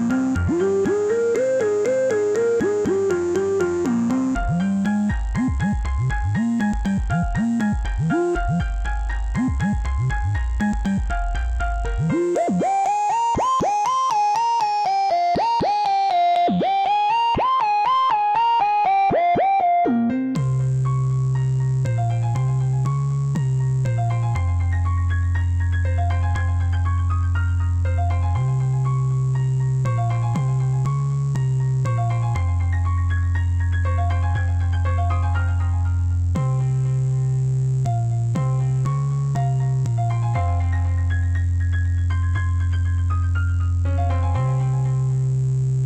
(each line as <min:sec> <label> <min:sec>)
0:00.0 sub dub bass 0:13.2
0:00.0 synth 0:25.2
0:00.0 psychadelic salsa piano 0:45.8
0:20.4 sub dub bass 0:27.0
0:27.9 sub dub bass 0:33.0
0:36.0 sub dub bass 0:41.2
0:43.8 sub dub bass 0:45.8